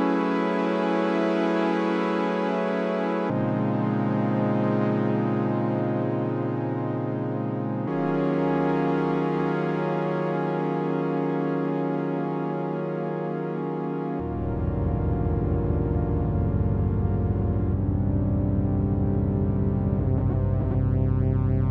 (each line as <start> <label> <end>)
14.2 Detuned Oscillators 21.7